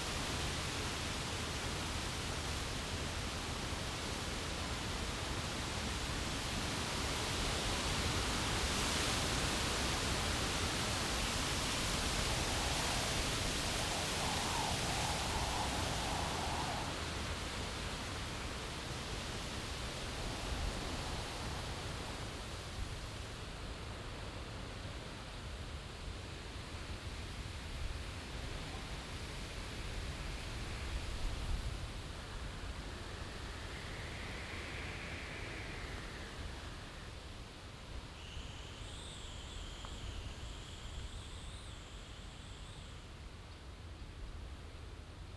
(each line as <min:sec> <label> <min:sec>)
0:00.0 rattling of leaves from the bushes and trees 0:23.5
0:00.0 wind coming up the hill 0:23.5